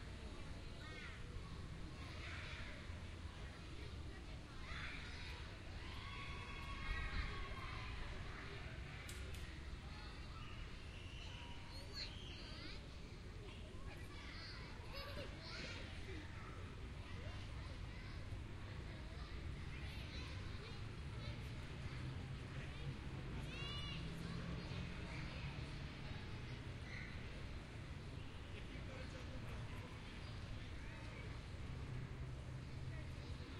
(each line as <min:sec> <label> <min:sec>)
0:00.0 happy children playing 0:33.5